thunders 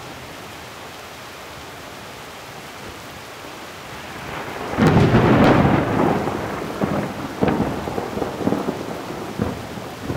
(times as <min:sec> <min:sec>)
0:04.4 0:10.1